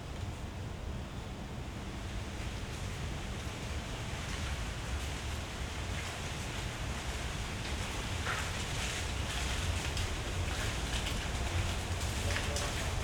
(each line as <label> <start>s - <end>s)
wind 0.0s - 13.0s